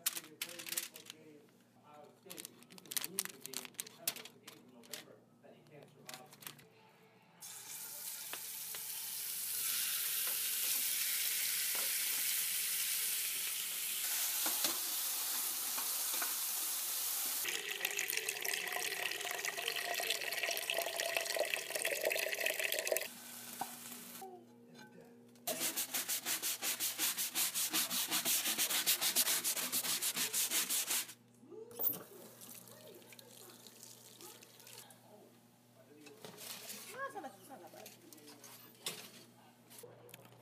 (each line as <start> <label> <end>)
7.4 Cooking 24.3
25.5 Cooking 35.2